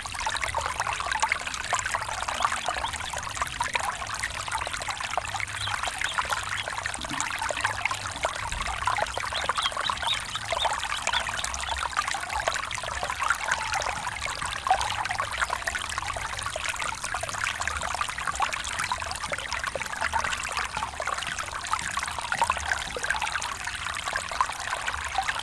Little Stream 0.0 - 25.4
subtle human and bird activity 5.5 - 7.7
subtle human and bird activity 8.9 - 11.9

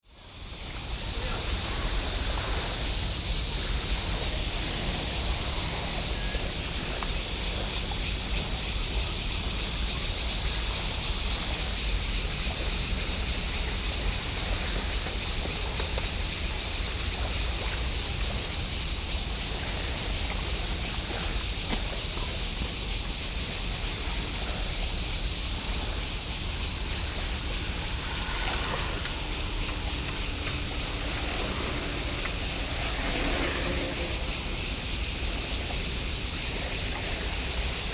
Bicycle 0.0 - 37.9
Cicada sounds 0.2 - 37.9

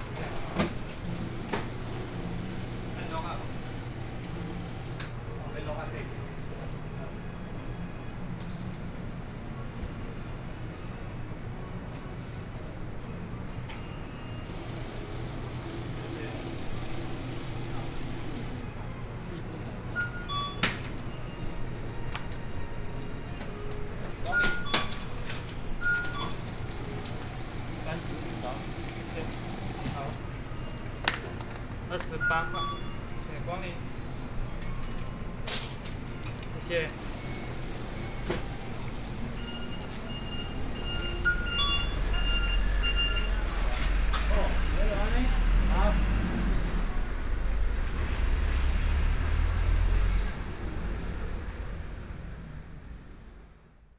walking in the Street 0.0 - 32.2
Checkout 0.0 - 51.5
Traffic Noise 0.0 - 53.9
walking in the Street 32.8 - 53.7

